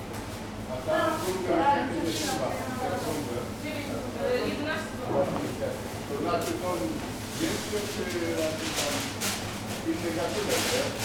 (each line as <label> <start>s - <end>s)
shop assistants explaining the different kind of breads 0.4s - 11.0s
people getting bread 5.1s - 11.0s